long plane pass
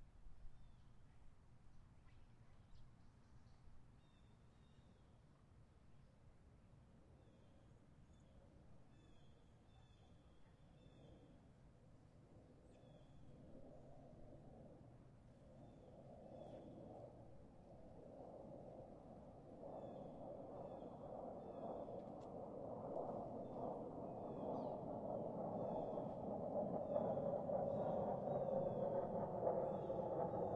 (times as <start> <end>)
9.0 30.5